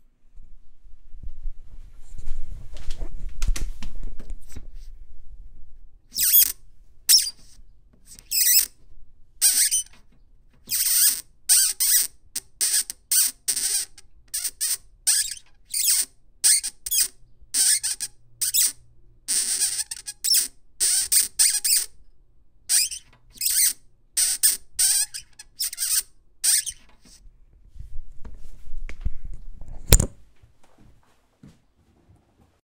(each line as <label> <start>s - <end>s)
rhodes squeak 6.2s - 7.5s
rhodes squeak 8.1s - 8.8s
rhodes squeak 9.4s - 9.9s
rhodes squeak 10.7s - 22.0s
rhodes squeak 22.7s - 26.9s